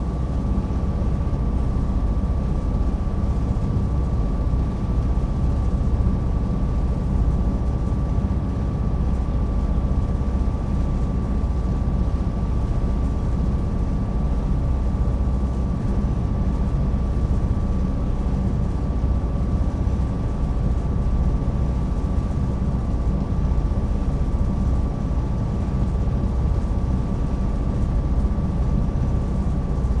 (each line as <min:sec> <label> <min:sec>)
0:00.0 vessel's engine proceeding at a steady speed, decelerating, idling 0:30.0